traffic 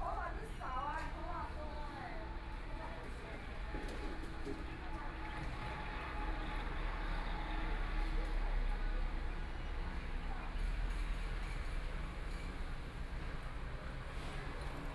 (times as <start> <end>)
5.4 14.9